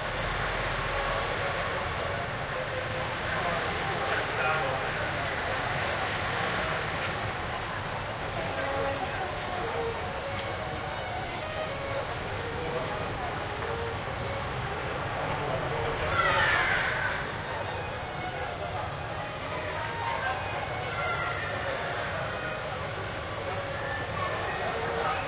0.0s cyclists 25.2s
0.0s street hubbub 25.2s
0.0s street musician (violinist) 25.2s
0.0s tramways 25.2s
0.0s walking people 25.2s

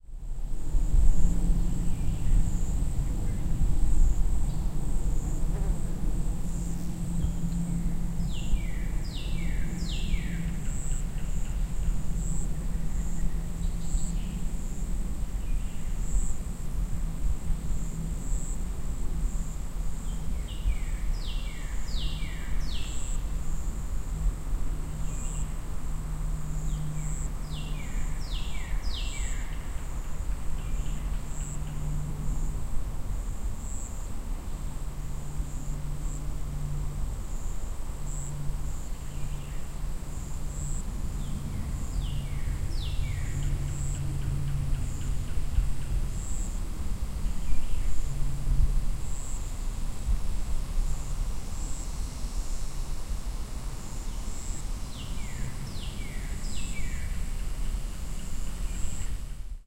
0.0s Various insects 59.6s
0.2s very distant vehicles 59.6s

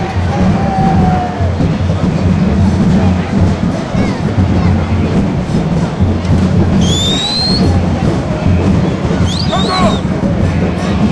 0.0s people shout 1.8s
9.2s people shout 10.2s

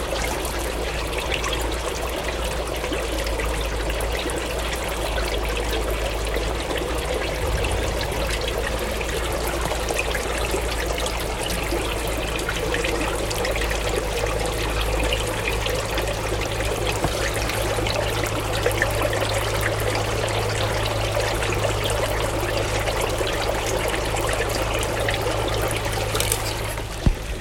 0.0s Bubbling stream 27.4s

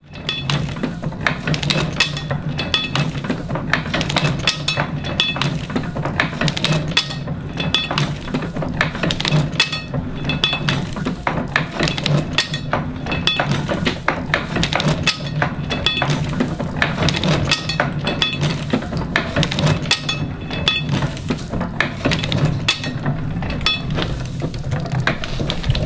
0.0s mechanical sound of a 123 year old letterpress printer 25.8s

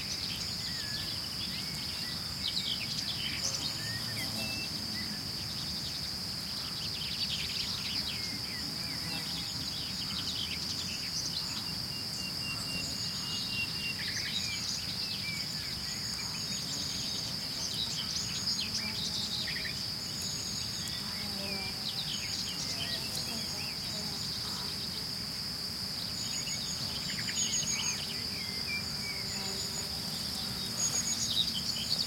0.0s crickets chirping 32.0s
3.3s occasional bee buzzing 5.4s
16.1s occasional bee buzzing 32.0s

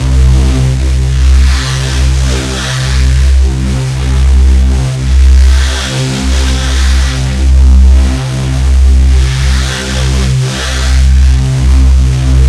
0.0s Driven reece bass 12.4s

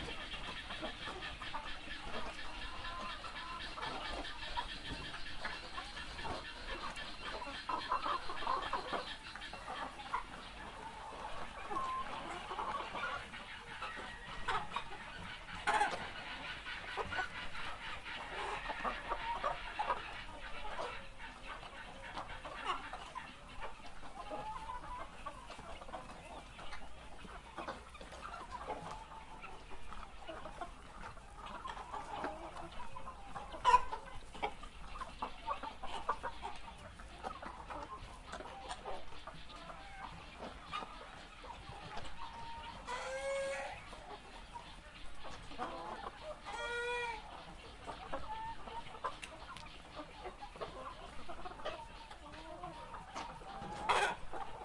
0.0s clucking 54.6s

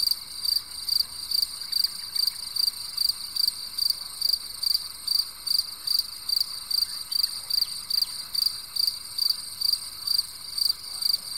0.0s crickets 11.3s
0.0s frogs at the background 11.3s

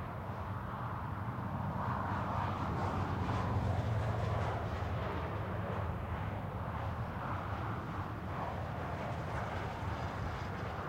0.0s Highway 10.8s

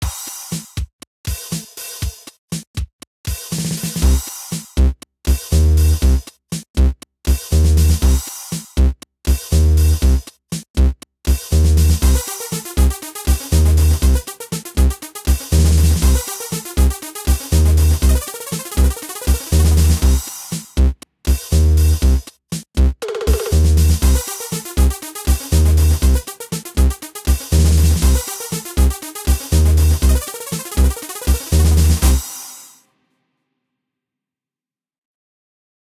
12.1s Little piece of music 20.4s
23.1s Little piece of music 32.6s

